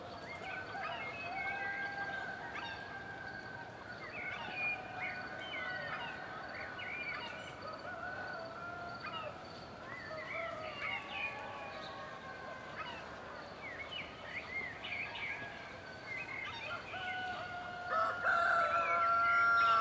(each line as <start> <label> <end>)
16.7 Dawn (rooster) chorus 19.8